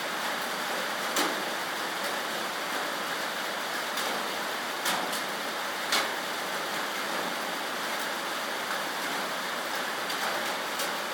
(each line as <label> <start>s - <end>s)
rainstorm 0.0s - 11.1s